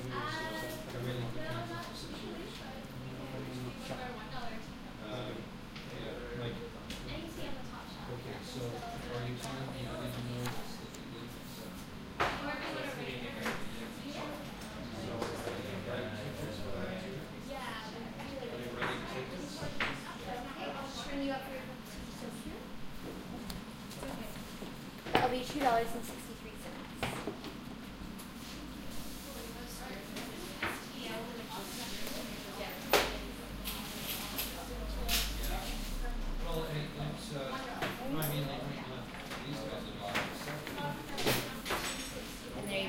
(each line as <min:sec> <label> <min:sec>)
0:00.0 people talking in a shop 0:42.8